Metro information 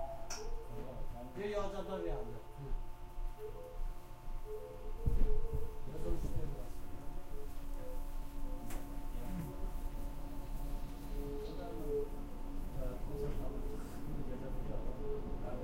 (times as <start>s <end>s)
4.4s 15.6s